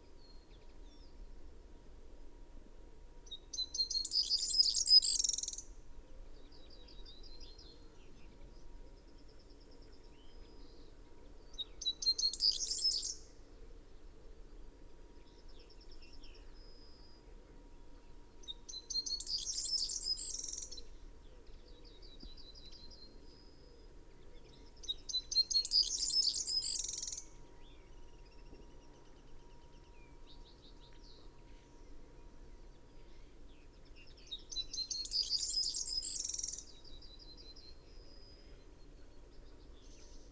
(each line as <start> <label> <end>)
0.0 background noise 40.3
24.2 blackbird 28.7
34.0 blackbird 40.3